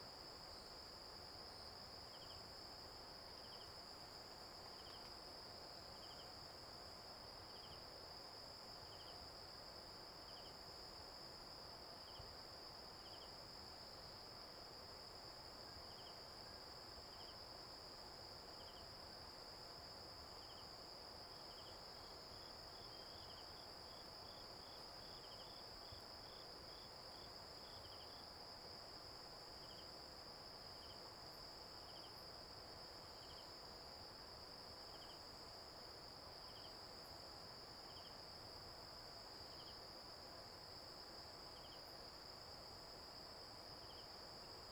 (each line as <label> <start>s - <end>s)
Insect noise 0.1s - 8.2s
Insect noise 8.8s - 44.7s